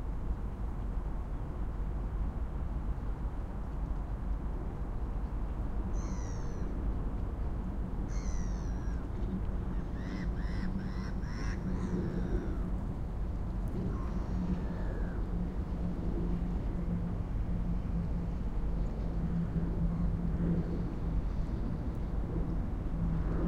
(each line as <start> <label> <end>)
0.0 boats 23.4
0.0 water 23.4
6.0 Distant gulls 6.7
8.1 Distant gulls 12.7
13.8 Distant gulls 15.5